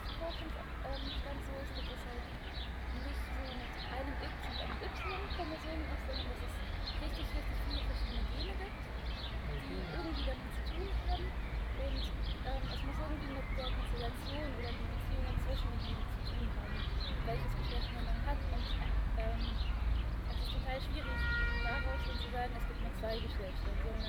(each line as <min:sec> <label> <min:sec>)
0:00.0 people talking 0:19.6
0:20.3 people talking 0:24.0